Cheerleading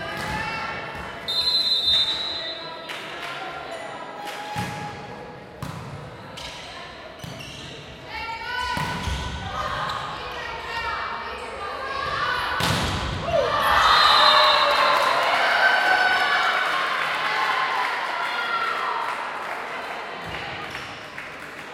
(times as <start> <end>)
13.2 20.7